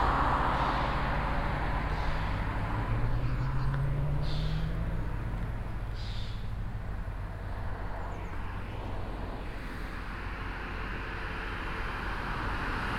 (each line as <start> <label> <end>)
0.0 traffic echoing in the valley 12.9